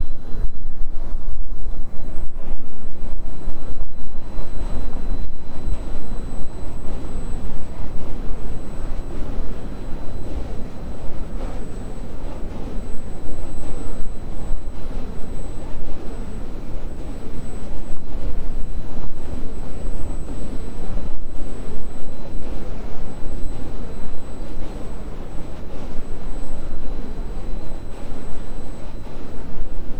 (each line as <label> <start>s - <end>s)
wind turbine 0.0s - 29.9s